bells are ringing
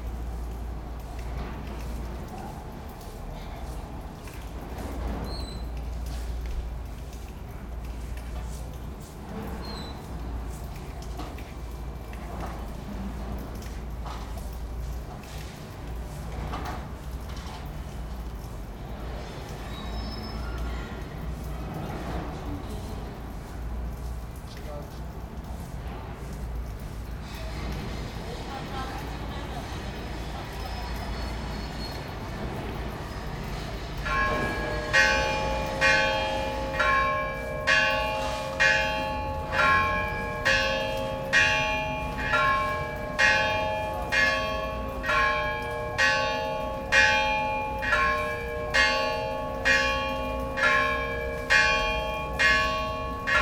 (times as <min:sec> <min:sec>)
0:31.9 0:53.4